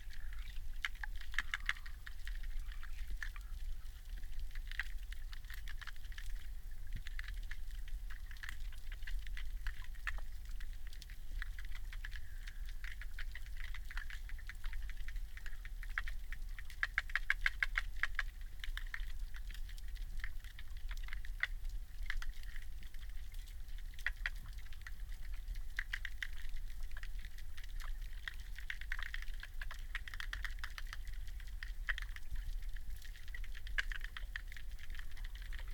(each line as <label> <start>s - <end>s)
River 0.0s - 35.7s